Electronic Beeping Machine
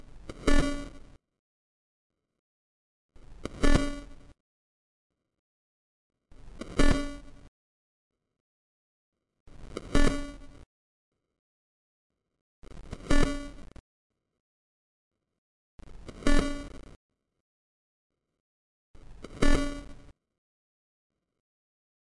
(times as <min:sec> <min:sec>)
0:09.9 0:10.5, 0:16.2 0:16.8, 0:19.3 0:19.9